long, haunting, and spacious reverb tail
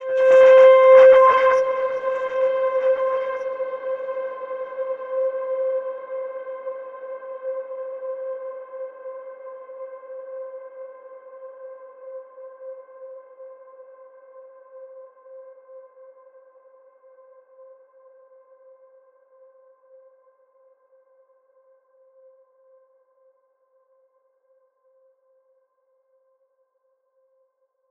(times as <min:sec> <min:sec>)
0:00.0 0:13.1